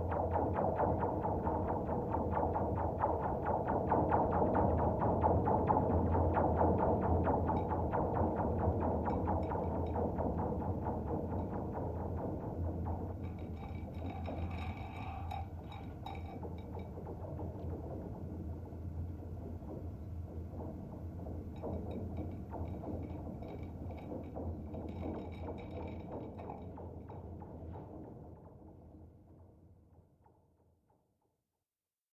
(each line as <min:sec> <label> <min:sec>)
0:13.3 Cable 0:16.5